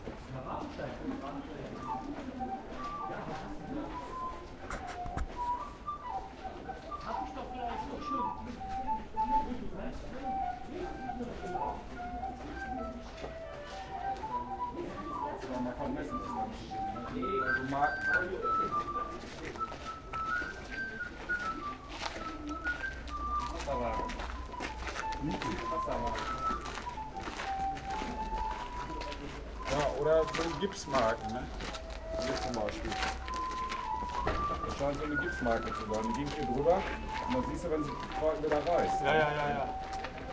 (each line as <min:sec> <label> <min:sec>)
0:01.2 bloke was playing the flute 0:40.3